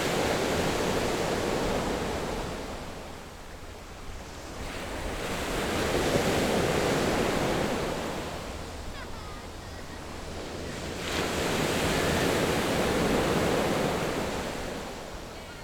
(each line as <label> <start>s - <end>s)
waves 0.0s - 15.6s